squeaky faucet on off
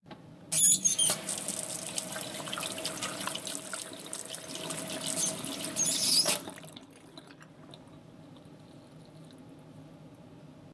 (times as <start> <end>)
0.5 1.3, 5.0 6.5